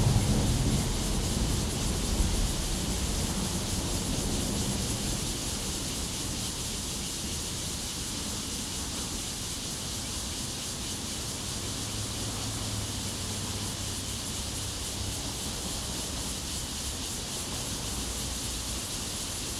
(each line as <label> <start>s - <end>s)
Cicadas sound 0.0s - 19.5s
Traffic Sound 11.5s - 16.8s